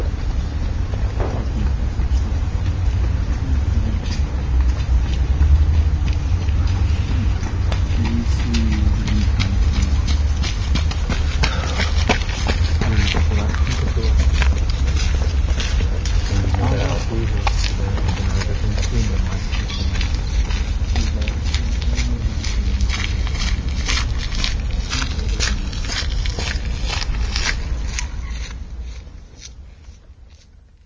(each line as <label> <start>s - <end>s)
people walking 0.0s - 30.8s
talk 1.2s - 4.4s
talk 6.8s - 10.3s
talk 12.7s - 14.7s
talk 16.2s - 23.8s
talk 24.6s - 26.1s